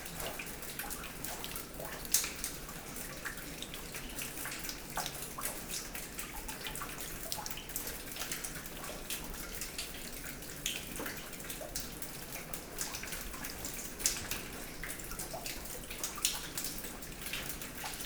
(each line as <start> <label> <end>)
0.0 raining hard inside 18.0